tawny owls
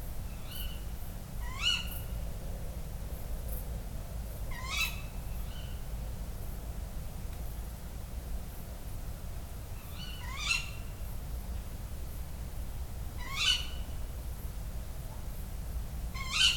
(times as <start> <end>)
16.2 16.5